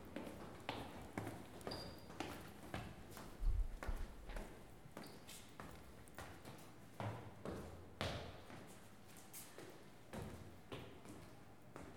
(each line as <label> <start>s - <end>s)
People going up/down stairs 0.0s - 11.9s